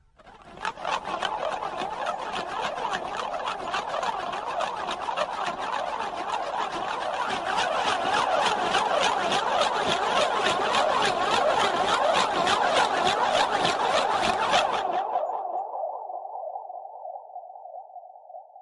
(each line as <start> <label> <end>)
0.0 Alien Ship 18.4